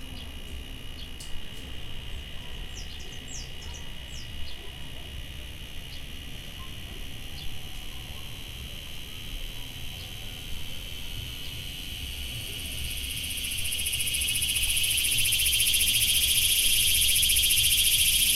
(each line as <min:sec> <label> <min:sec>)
0:00.0 intense cicada 0:18.3